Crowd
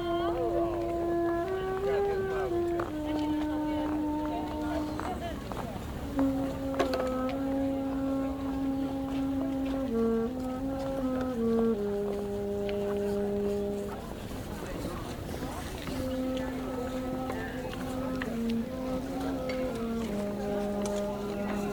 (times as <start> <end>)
0.0 7.1, 13.1 21.7